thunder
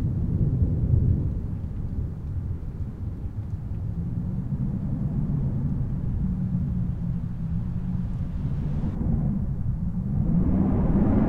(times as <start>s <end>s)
4.4s 11.2s